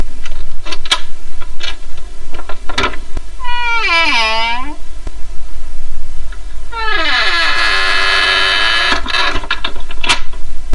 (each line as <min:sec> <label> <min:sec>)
0:00.6 open door 0:04.8
0:00.7 door is still creaking 0:04.8
0:02.4 close door 0:04.8
0:06.7 door is still creaking 0:10.4
0:06.7 open door 0:10.4
0:06.7 close door 0:10.4